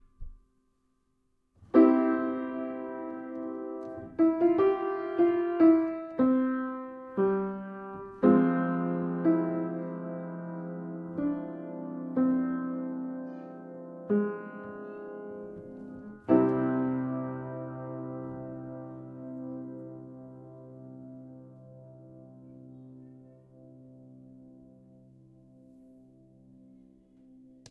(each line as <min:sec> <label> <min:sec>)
0:01.7 Piano pling 0:21.5